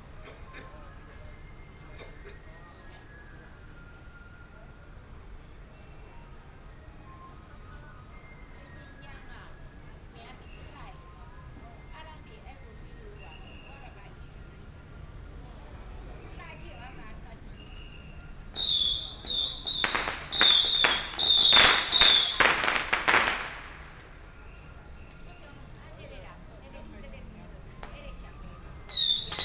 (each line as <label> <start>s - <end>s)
Traffic sound 14.1s - 25.0s
Firecrackers and fireworks 16.8s - 24.8s
Traffic sound 26.4s - 29.4s
Firecrackers and fireworks 28.9s - 29.4s